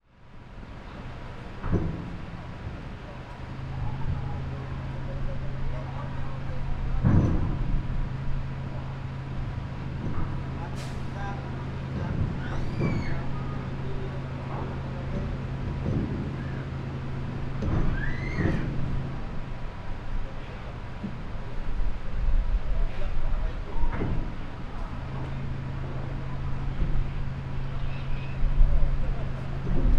engine 0.0 - 29.9
vehicles (cars, motorcycles and trucks) loading the ship 0.1 - 29.9
people are talking and sometimes shouting 1.0 - 29.9
gate of the ship are activated 9.9 - 13.8

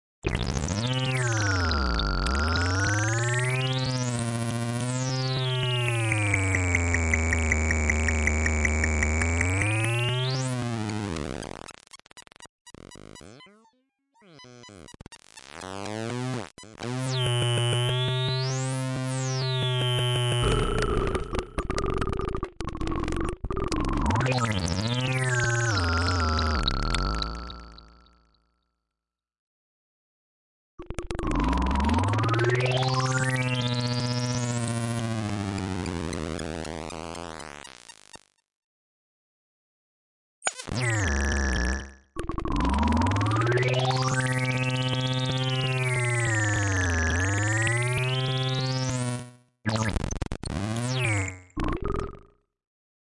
synth 0.7 - 11.6
synth 12.7 - 28.2

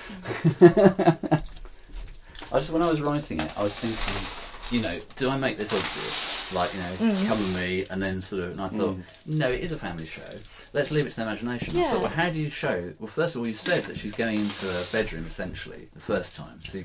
bead/shell curtain being walked through 2.5 - 9.0
bead/shell curtain being walked through 14.2 - 15.4

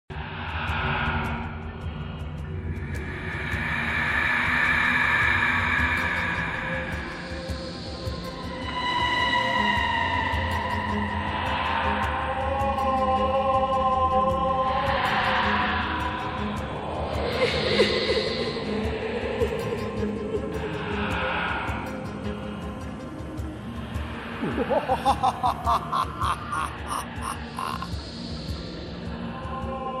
Drone 0.1 - 12.5
Scream 24.4 - 27.9

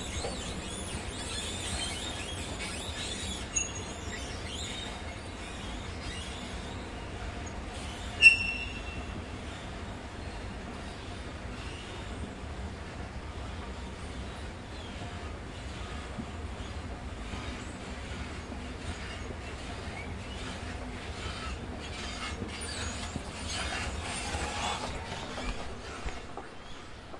squeaky travelator 0.0 - 12.5
squeaky travelator 13.4 - 27.1

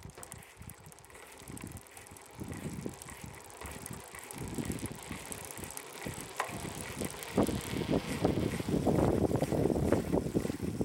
Mountain-Bike Pedalling Concrete 0.0 - 10.8

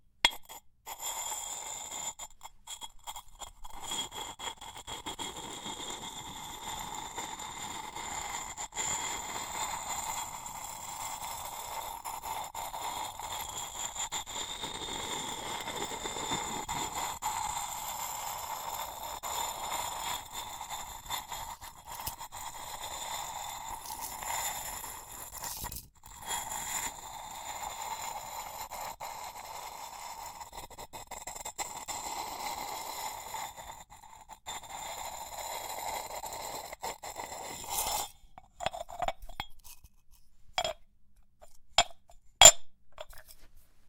ceramic friction small clay pot lid turn slowly grind 0.3 - 43.6

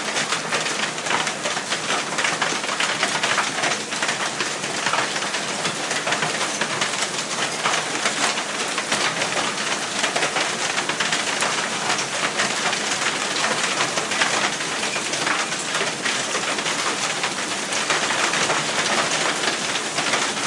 rain 0.0 - 20.4

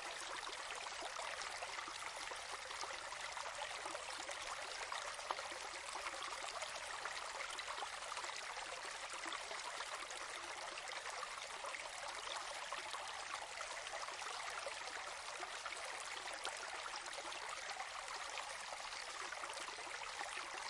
little creek 0.0 - 20.6

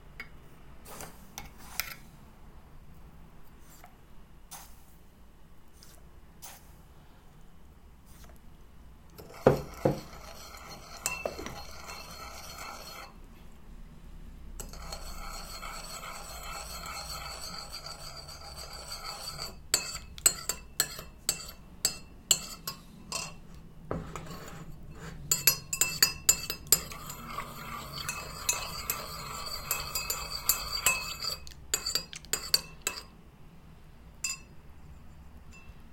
Stir sugar in tea 9.1 - 13.2
Stir sugar in tea 14.6 - 33.2
Stir sugar in tea 34.2 - 34.5

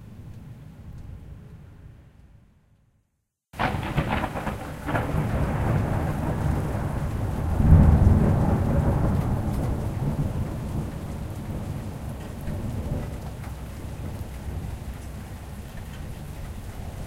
rain 0.0 - 2.5
Thunder claps 3.6 - 16.0
rain 3.6 - 17.0

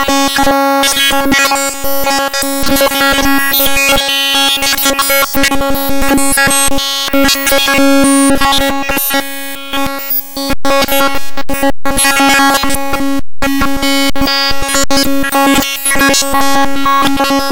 Digital Satellite Interference 7.1 - 17.5

